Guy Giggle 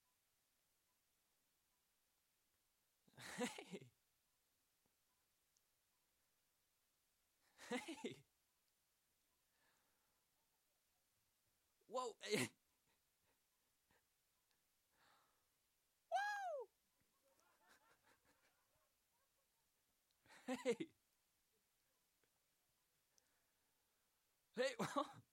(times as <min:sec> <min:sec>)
0:03.2 0:03.9, 0:07.6 0:08.2, 0:20.4 0:20.9, 0:24.6 0:25.2